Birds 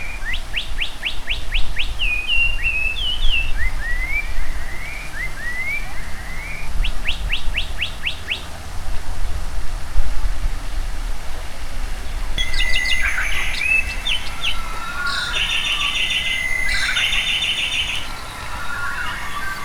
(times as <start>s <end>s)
12.0s 19.6s